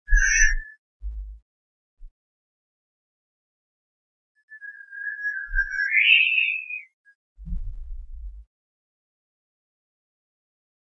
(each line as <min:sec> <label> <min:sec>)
0:00.1 High frequency musical whistle like sound 0:00.8
0:04.4 High frequency musical whistle like sound 0:07.2